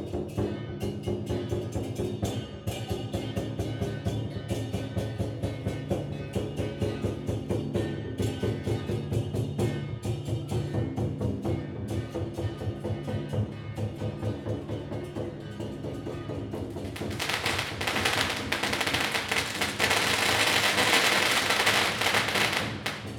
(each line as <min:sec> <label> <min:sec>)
0:00.0 drums 0:23.1
0:13.3 Gongs 0:23.1
0:16.4 Firecrackers 0:23.1